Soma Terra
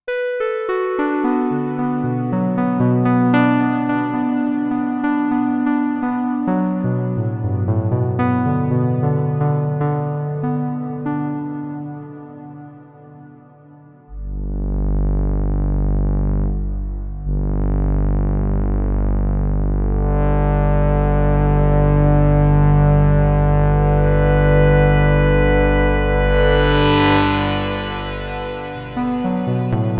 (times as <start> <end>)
24.4 29.9